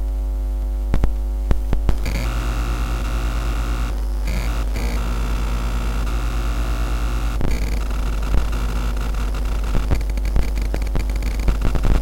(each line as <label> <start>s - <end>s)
Phone Circuitry 1.0s - 12.0s